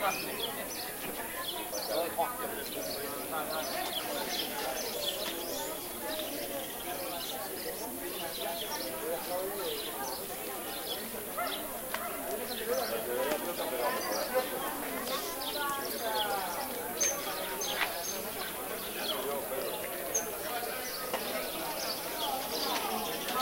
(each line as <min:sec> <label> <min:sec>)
0:00.0 birds 0:23.4
0:00.0 conversations of people 0:23.4